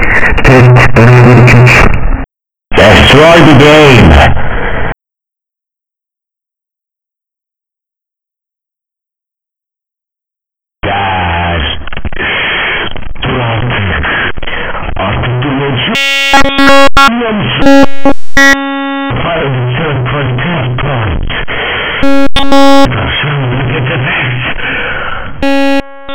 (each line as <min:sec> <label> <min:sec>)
0:00.0 Glitch sounds with lyrics 0:04.5
0:10.8 Glitch sounds with lyrics 0:26.1